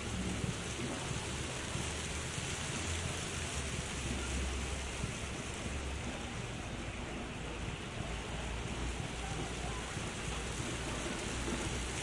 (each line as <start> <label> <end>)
0.0 fountain 12.0
2.7 people 11.7